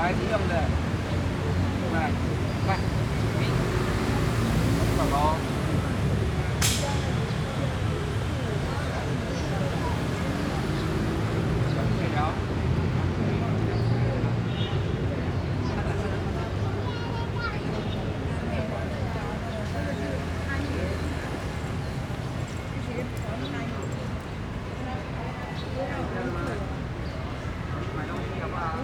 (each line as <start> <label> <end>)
0.0 Traffic Sound 28.8
16.2 Children 19.5